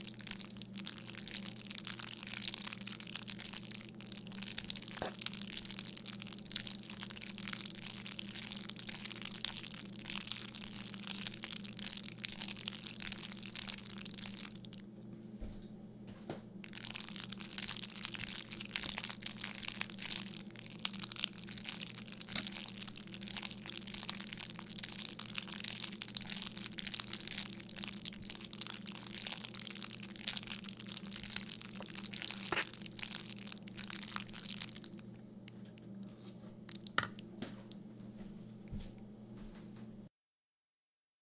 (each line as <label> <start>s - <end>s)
Slimy Pasta Stir 0.0s - 14.8s
Slimy Pasta Stir 16.7s - 35.0s
fork scrape the bottom of the pot 32.4s - 32.7s